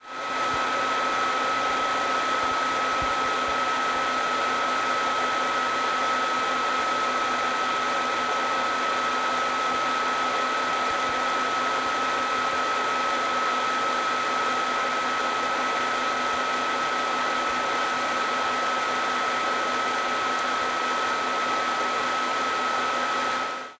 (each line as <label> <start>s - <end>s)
Computer Fan 0.0s - 23.7s